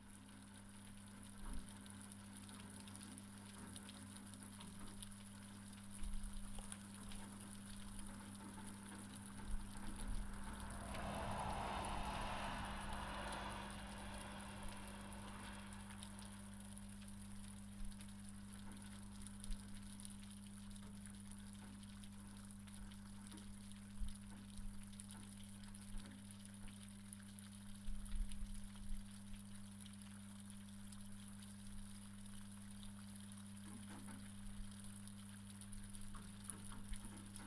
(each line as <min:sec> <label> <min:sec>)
0:00.0 Snow is melting and dripping from the roof 0:37.4
0:09.2 Trucks are passing by 0:17.1